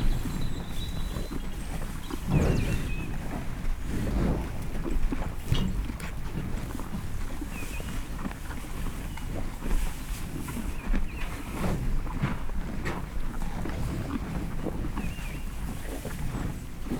Hereford cattle continuously munch on hay bales 0:00.0 - 0:16.9

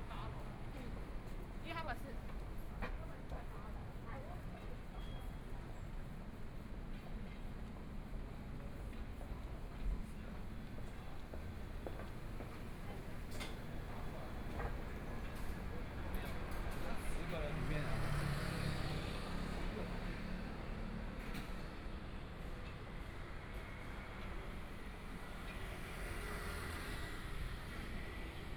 walking in the Street 0:00.0 - 0:28.5
Traffic Sound 0:10.5 - 0:22.4
Traffic Sound 0:23.0 - 0:28.5

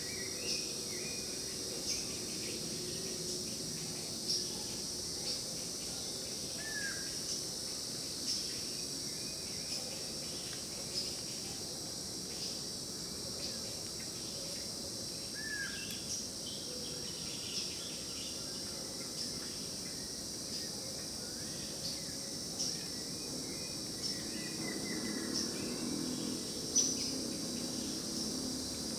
variety of birds 0:15.4 - 0:28.9

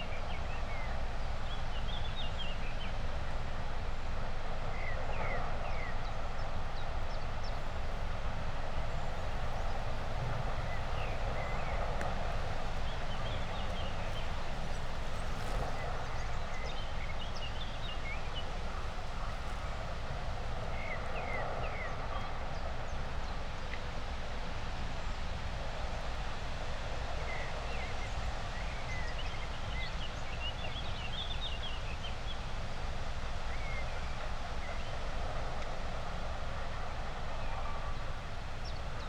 distant machinery 0:00.0 - 0:28.6
birds 0:00.0 - 0:30.4
wind 0:00.0 - 0:39.0
birds 0:31.2 - 0:39.0
distant machinery 0:32.4 - 0:39.0

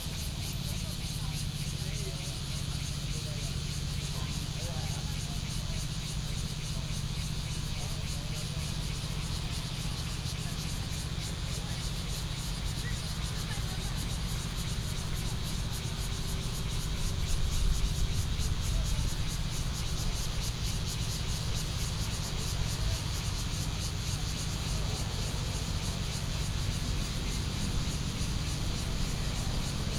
Cicadas sound 0:00.0 - 0:29.9
Traffic Sound 0:12.3 - 0:29.9

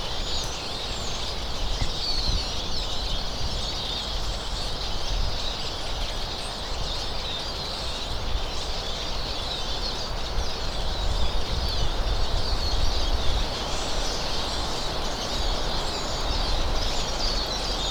sparrows chirping and pacing around the trees 0:00.0 - 0:17.9

